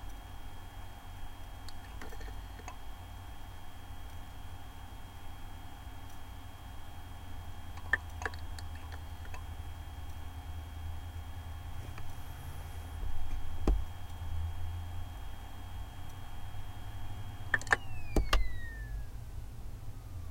old laptop 0:01.4 - 0:03.0
old laptop 0:15.0 - 0:19.1

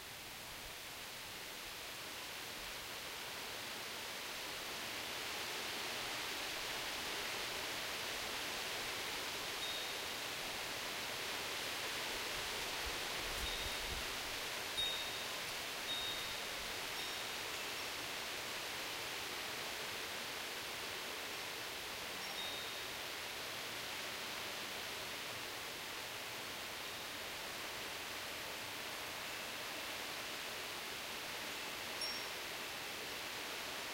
calm light breeze 0:00.0 - 0:33.9
wind chimes in background 0:09.6 - 0:10.1
wind chimes in background 0:13.4 - 0:14.0
wind chimes in background 0:14.7 - 0:17.9
wind chimes in background 0:22.1 - 0:23.0
wind chimes in background 0:32.0 - 0:32.5

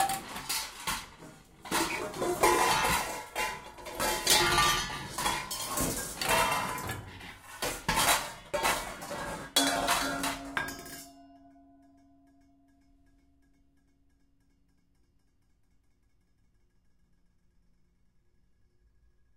pots and pans banging around 0:00.0 - 0:11.8

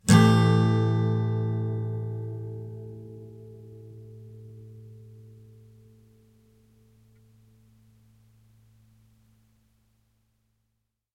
acoustic guitar strum with medium metal pick 0:00.0 - 0:07.8

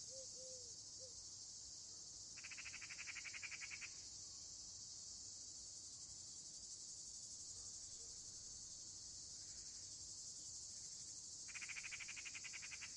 Cicades 0:00.0 - 0:12.9
Crickets 0:00.0 - 0:12.9
Eagle Owl 0:00.0 - 0:01.1
Eagle Owl 0:11.5 - 0:12.9

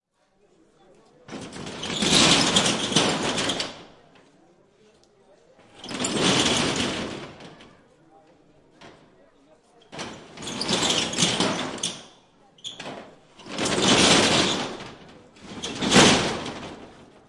Closing a metal shutter 0:01.3 - 0:04.0
Closing a metal shutter 0:05.6 - 0:07.8
Closing a metal shutter 0:09.9 - 0:17.2

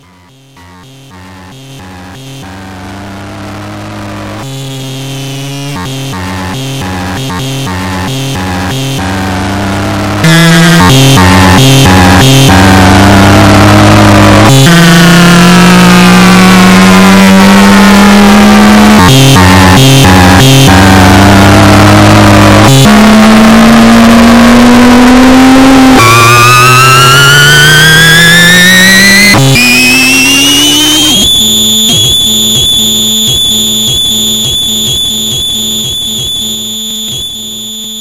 signal becomes more and more distorted 0:01.1 - 0:38.0

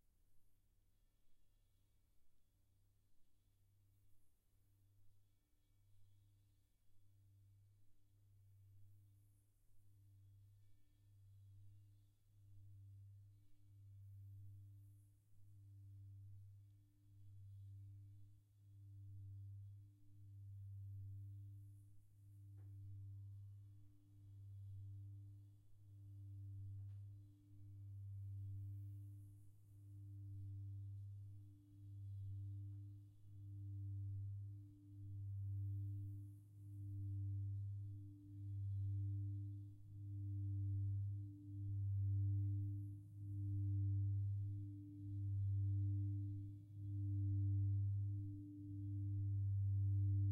Singing Bowl 0:11.5 - 0:50.3

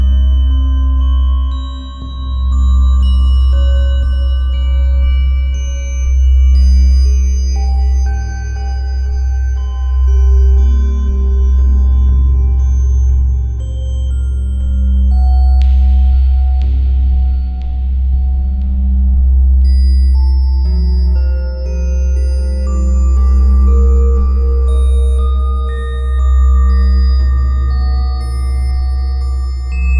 Bass Tone 0:00.0 - 0:29.9
Pulsating Drone 0:00.0 - 0:29.9
Bells 0:19.6 - 0:29.9

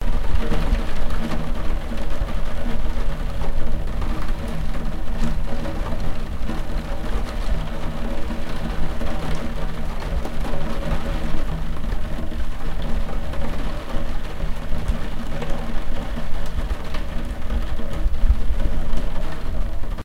Intense rain drops against window pane 0:00.0 - 0:20.0

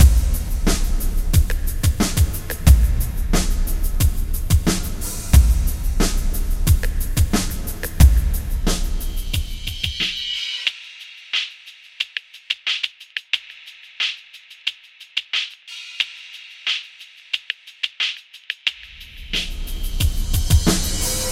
breakbeat 0:00.0 - 0:21.3

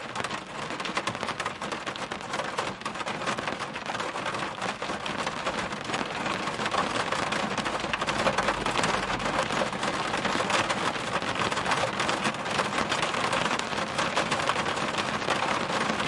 rain noise from inside a car 0:00.0 - 0:16.0

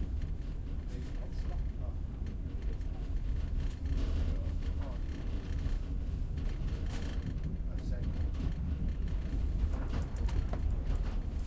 Train movement from inside the cabin 0:00.0 - 0:11.4

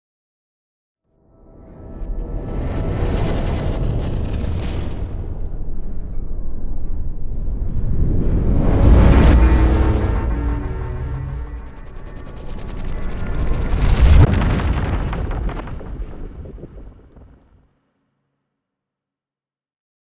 whoosh 0:07.2 - 0:17.4
riser 0:07.5 - 0:17.3
explosion 0:07.7 - 0:17.6
boom 0:07.9 - 0:17.5

